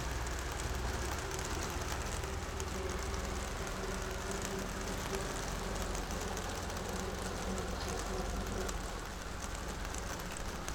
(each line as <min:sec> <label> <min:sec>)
0:00.0 rain on bus stop roof 0:10.7